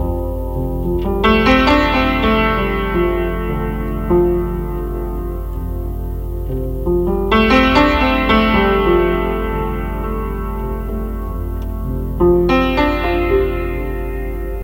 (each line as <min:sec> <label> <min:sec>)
0:00.0 creaky piano 0:14.6